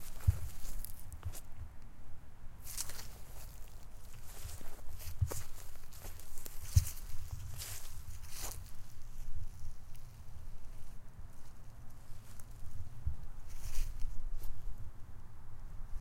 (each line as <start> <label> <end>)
0.0 Steps on some crunch grass 1.5
2.6 Steps on some crunch grass 12.7
13.5 Steps on some crunch grass 14.6